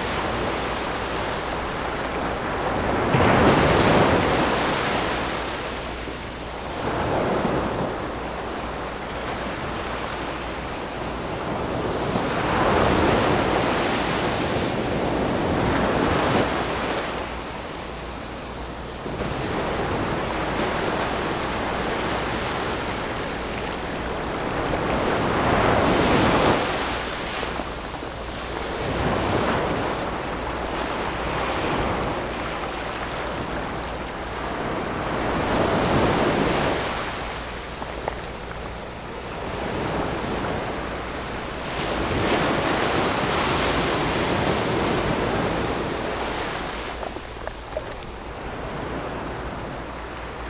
waves 0.0 - 50.4

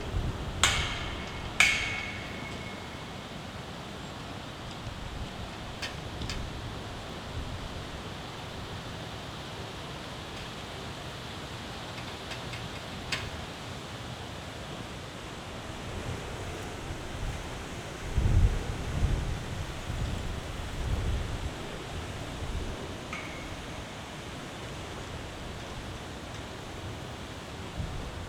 metal fence, which is moved by the wind 0.0 - 8.1
excavation or construction work 0.6 - 3.4
metal fence, which is moved by the wind 11.9 - 13.5
metal fence, which is moved by the wind 21.1 - 28.2

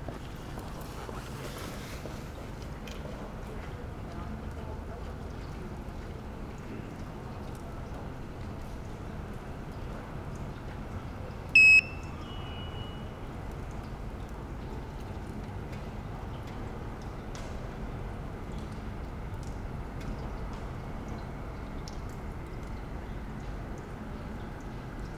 Devices with unclear funtion seem to communicate 11.6 - 12.1

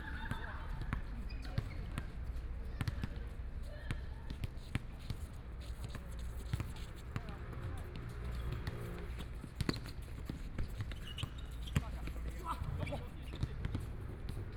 Play basketball 0.0 - 14.5
Traffic Sound 6.1 - 10.6

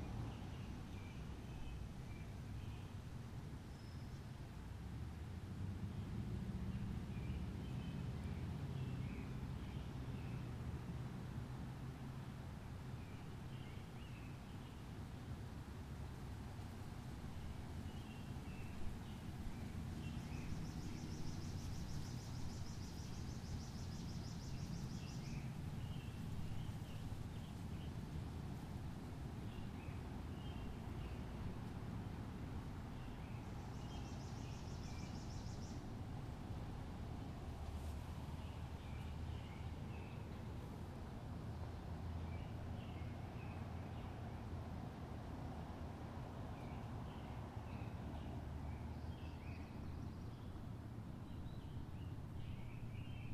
rustling of leaves 11.6 - 44.5

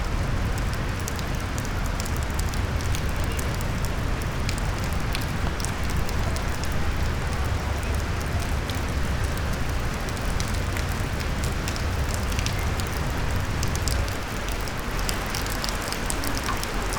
raindrops 0.0 - 16.9
reading fragmented poems 15.2 - 16.9

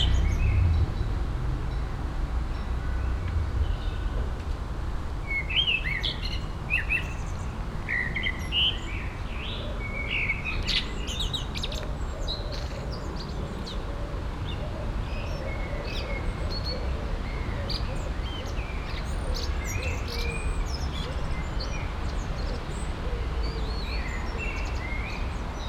windy evening 0.0 - 25.6
blackbird singing 5.3 - 13.8

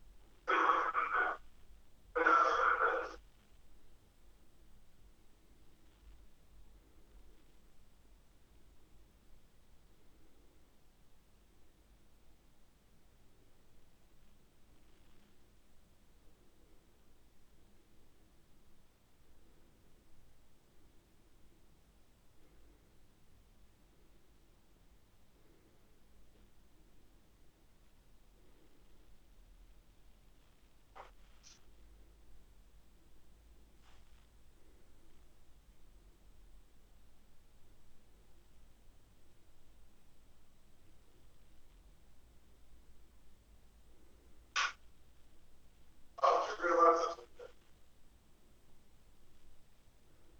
phone call 0.5 - 1.4
distorted conversations 0.5 - 1.5
distorted conversations 2.2 - 3.2
phone call 2.2 - 3.2
phone call 46.2 - 47.5
distorted conversations 46.2 - 47.6

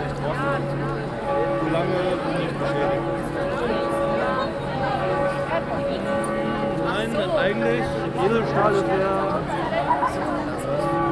noon bells of the city church 0.0 - 11.1

